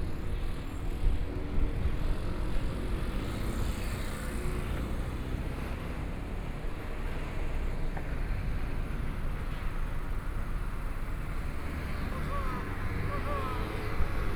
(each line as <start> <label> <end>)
6.2 Traffic Sound 14.3